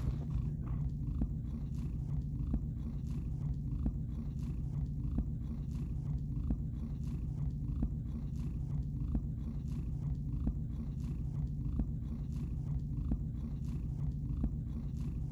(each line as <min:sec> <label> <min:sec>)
0:00.0 cat purring 0:15.3